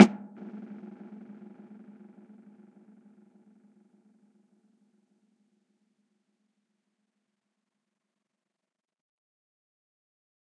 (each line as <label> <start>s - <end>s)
dry snare with effects 0.0s - 2.6s